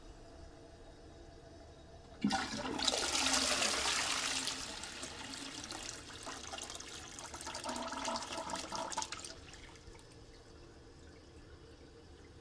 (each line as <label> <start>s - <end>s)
Toilet flushing 2.2s - 10.2s